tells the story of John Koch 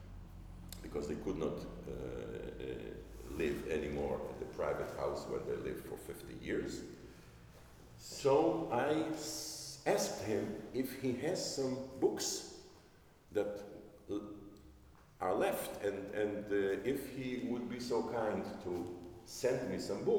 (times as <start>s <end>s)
0.7s 7.0s, 8.0s 12.5s